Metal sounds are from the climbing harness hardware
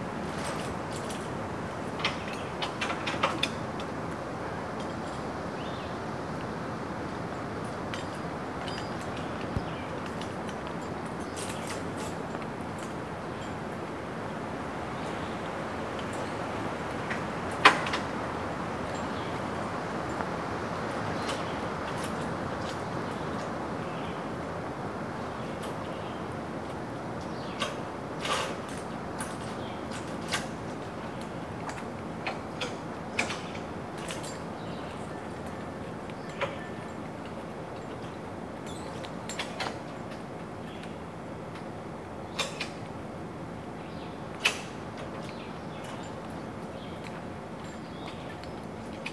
0:38.6 0:39.8

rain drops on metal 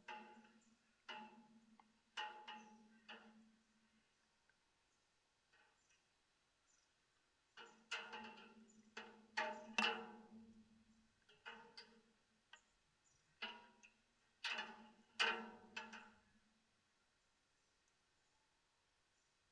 0:11.2 0:12.1

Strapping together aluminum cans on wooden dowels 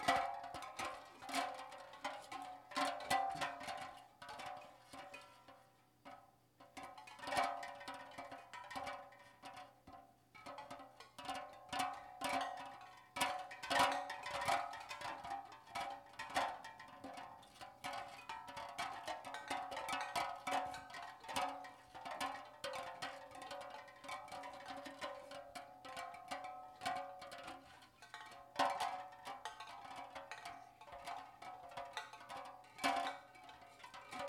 0:17.1 0:34.2

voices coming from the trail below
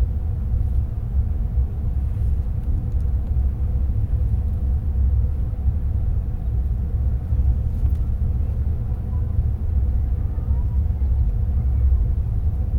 0:08.3 0:12.3

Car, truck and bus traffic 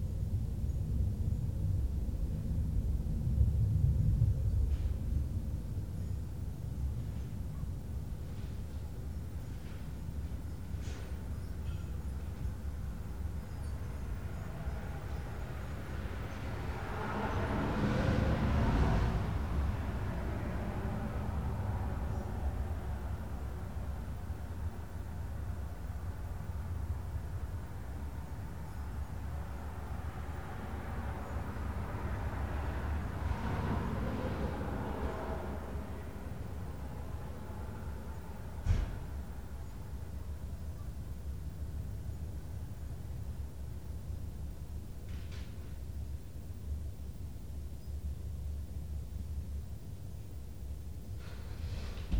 0:08.0 0:40.6

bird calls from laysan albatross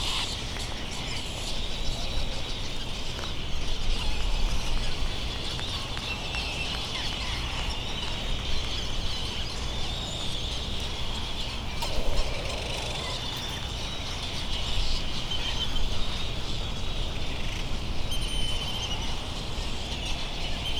0:11.8 0:14.7

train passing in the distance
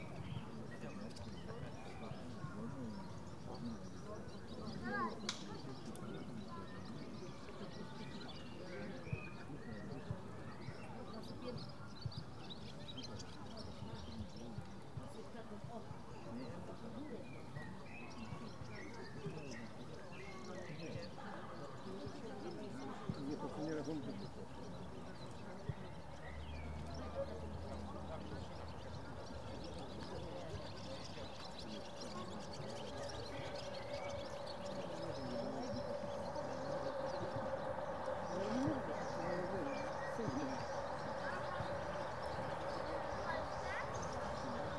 0:26.0 0:44.7

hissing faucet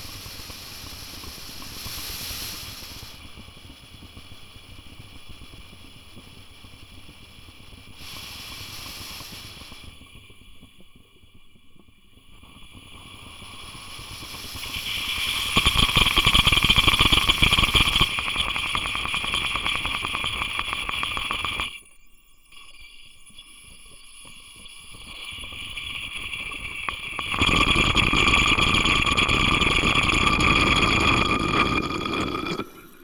0:00.0 0:03.2, 0:08.0 0:10.0, 0:12.5 0:21.8, 0:26.0 0:33.0

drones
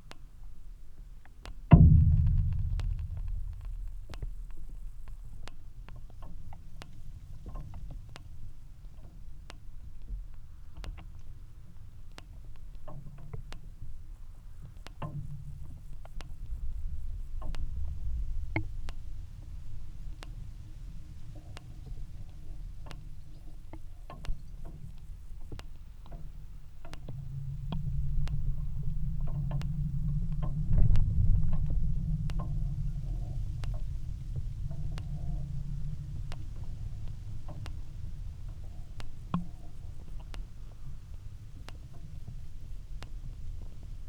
0:01.7 0:05.6

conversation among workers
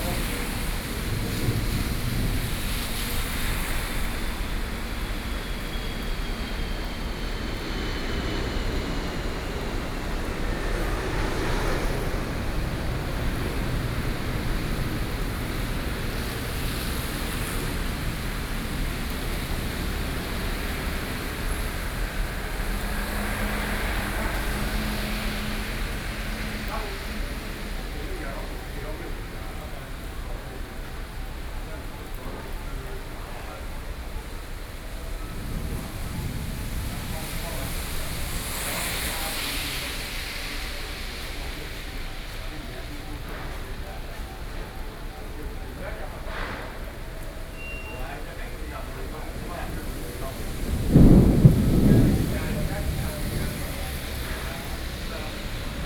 0:21.0 0:55.8

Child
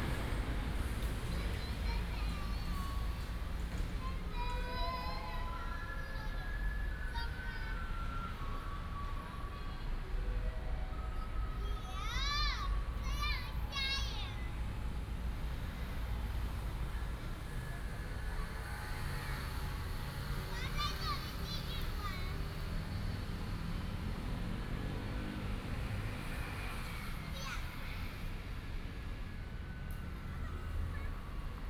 0:01.1 0:08.4, 0:11.3 0:14.6, 0:19.0 0:22.8, 0:26.4 0:28.3, 0:30.2 0:31.4

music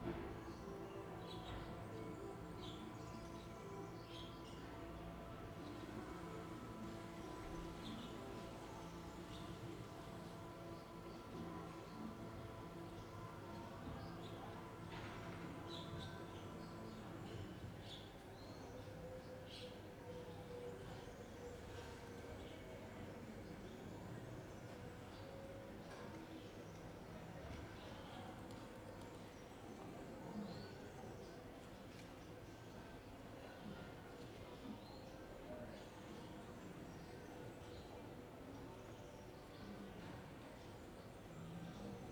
0:00.0 0:28.6

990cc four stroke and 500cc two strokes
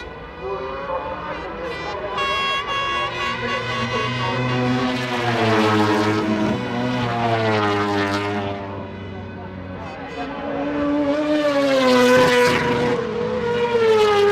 0:00.0 0:08.5

